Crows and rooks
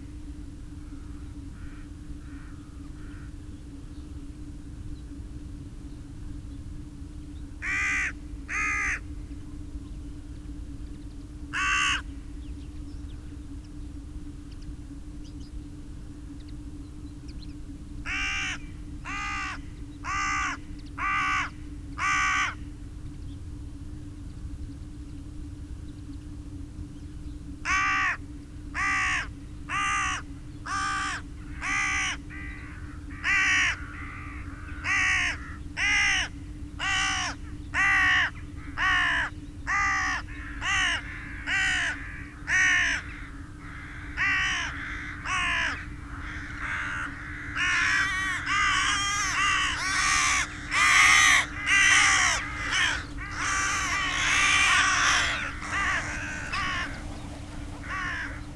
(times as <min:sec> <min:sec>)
0:00.3 0:03.5, 0:07.5 0:09.6, 0:11.4 0:12.4, 0:18.0 0:23.1, 0:27.6 0:58.5